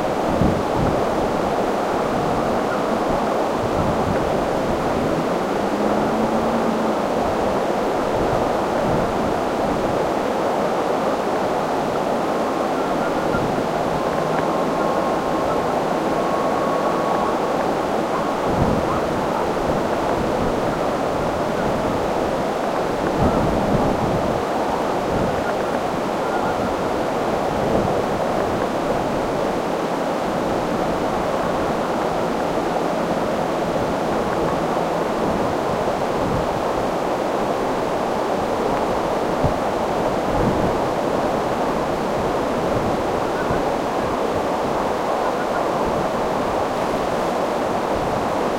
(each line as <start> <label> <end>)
0.0 constant light wind 48.5
1.4 distant winter village sounds 23.0